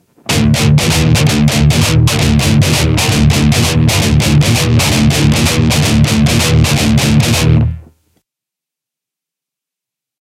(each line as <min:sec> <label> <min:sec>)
0:00.2 DIST GUIT 0:08.0